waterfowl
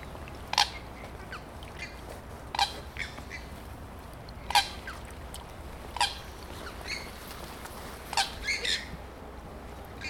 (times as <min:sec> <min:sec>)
0:00.5 0:03.5, 0:04.4 0:05.1, 0:05.9 0:07.1, 0:08.1 0:09.0